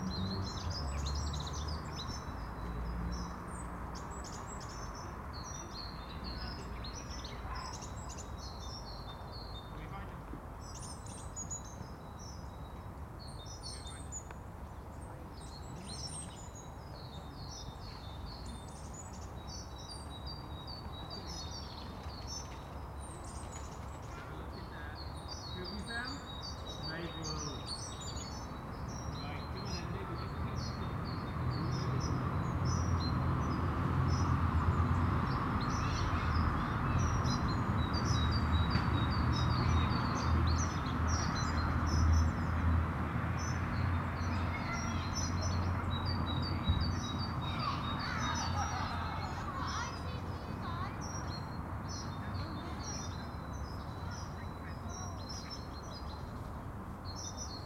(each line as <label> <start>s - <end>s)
Birdsong comes and goes 0.0s - 57.6s